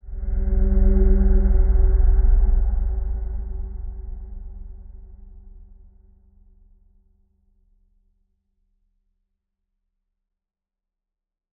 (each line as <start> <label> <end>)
0.0 dark ambient pad 6.4